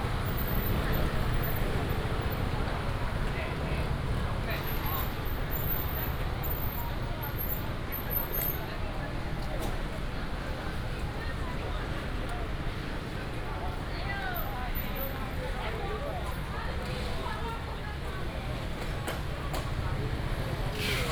traffic sound 0:00.0 - 0:09.8
walking in the Fruit and vegetable wholesale market area 0:00.0 - 0:21.1
traffic sound 0:14.2 - 0:21.1

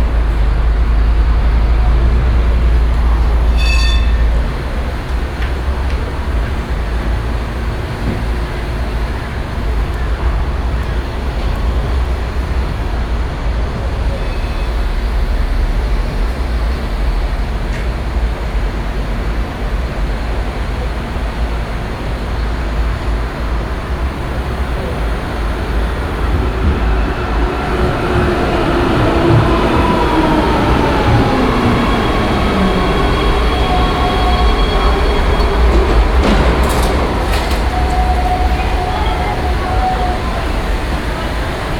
several trams coming in, stopping and leaving the station again 0:00.0 - 0:41.7

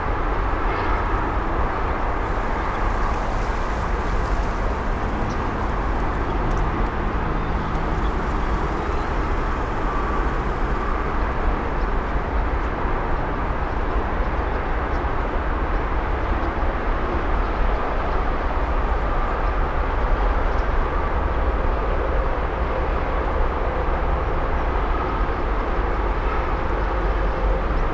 din of the nearby freeway intersection 0:00.0 - 0:27.9
leaves in the wind 0:00.0 - 0:27.9
cicadas 0:00.1 - 0:15.0

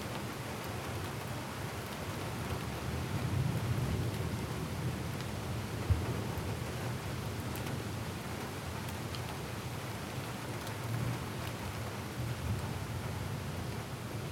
afternoon thunderstorm 0:05.7 - 0:06.7

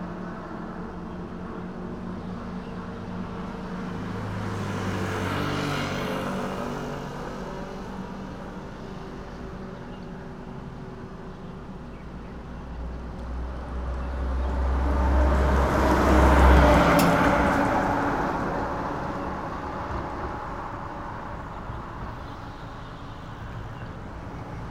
Traffic Sound 0:00.0 - 0:24.7

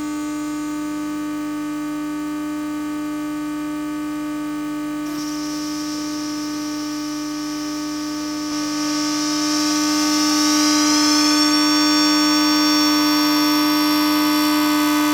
Electromagnetic travel inside a train 0:05.1 - 0:15.1

